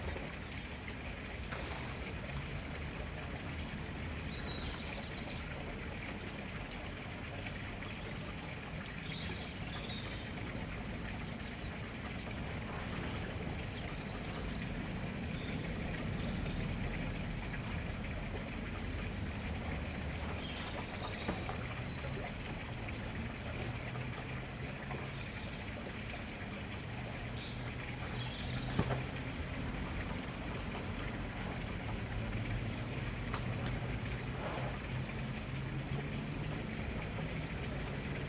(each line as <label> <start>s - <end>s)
running water sound is a neighbour's water feature 0.0s - 38.2s